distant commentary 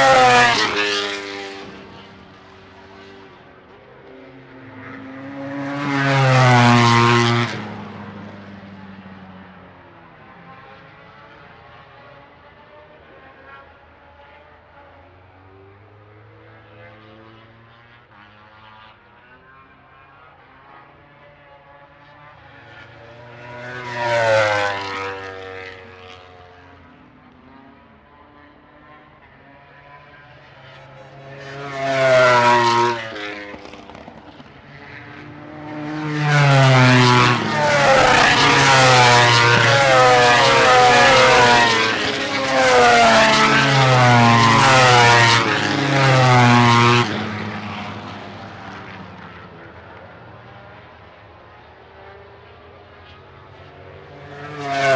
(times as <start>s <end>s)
22.4s 54.9s